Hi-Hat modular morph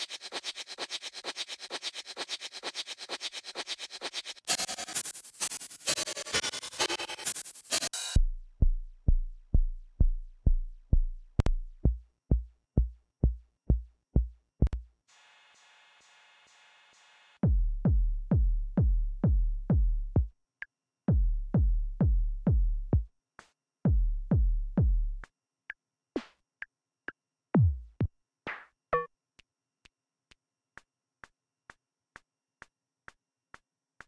0:00.0 0:08.2

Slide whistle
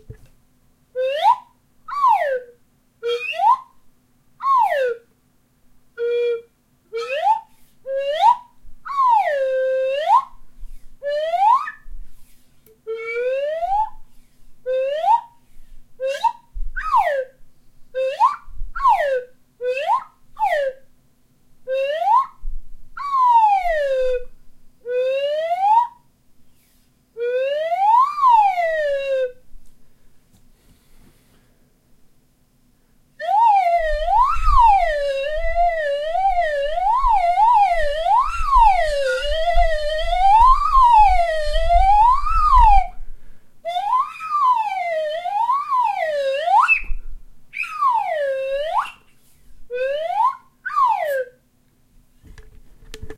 0:01.0 0:03.8, 0:04.4 0:05.1, 0:06.0 0:17.4, 0:18.0 0:20.8, 0:21.7 0:22.4, 0:26.6 0:29.4, 0:33.2 0:43.0, 0:43.7 0:51.4

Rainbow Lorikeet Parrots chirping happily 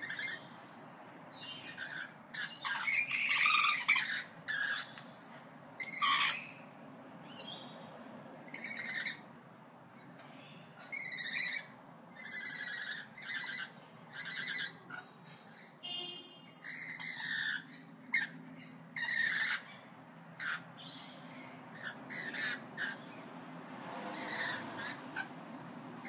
0:00.0 0:00.6, 0:01.4 0:05.1, 0:05.8 0:07.7, 0:08.5 0:09.2, 0:10.9 0:15.7, 0:16.6 0:23.2, 0:24.1 0:25.4

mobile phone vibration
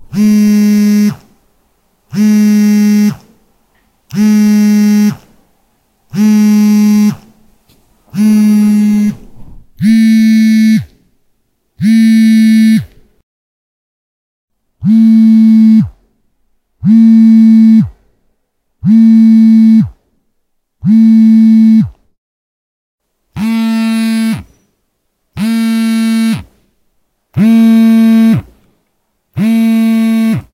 0:00.0 0:01.4, 0:02.1 0:03.3, 0:04.1 0:05.3, 0:06.1 0:07.3, 0:08.1 0:09.2, 0:09.8 0:11.0, 0:11.8 0:13.1, 0:14.8 0:16.0, 0:16.8 0:18.0, 0:18.8 0:20.0, 0:20.8 0:22.0, 0:23.4 0:24.5, 0:25.4 0:26.6, 0:27.4 0:28.6, 0:29.4 0:30.5

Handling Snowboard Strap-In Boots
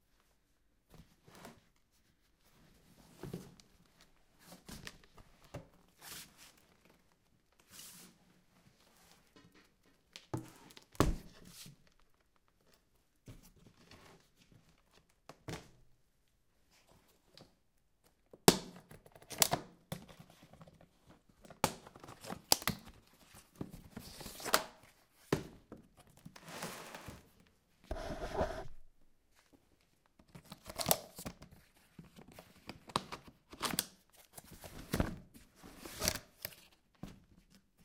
0:27.9 0:28.8

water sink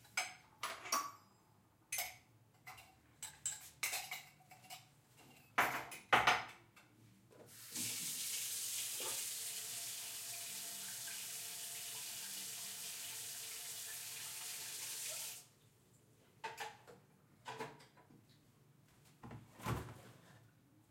0:07.5 0:15.6

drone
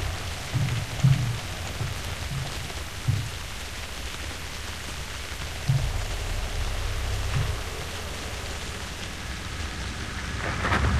0:04.9 0:10.9

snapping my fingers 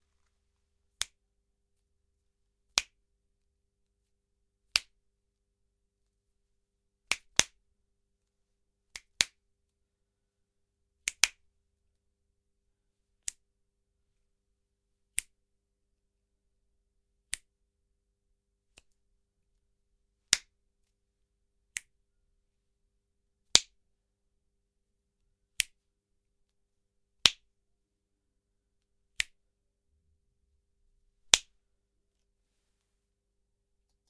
0:25.6 0:25.8, 0:29.2 0:29.4

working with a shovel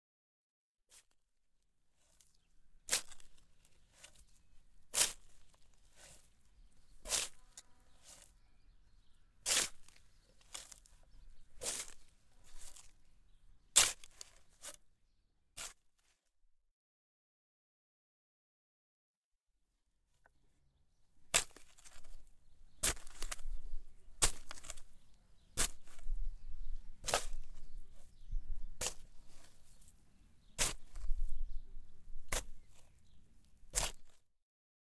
0:02.0 0:08.4, 0:09.4 0:13.0, 0:13.8 0:14.8, 0:15.6 0:16.1, 0:21.3 0:30.0, 0:30.6 0:34.2

